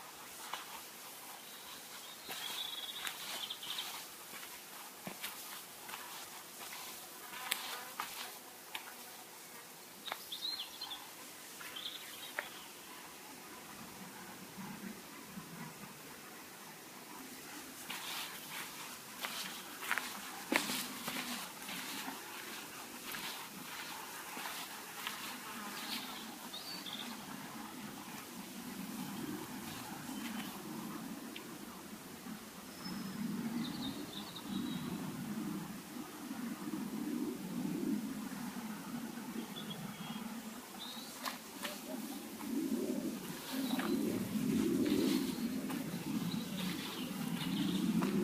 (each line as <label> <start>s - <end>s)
birds 0.0s - 48.2s
wind 0.0s - 48.2s
footsteps 0.3s - 9.2s
footsteps 17.5s - 30.6s
footsteps 43.2s - 48.2s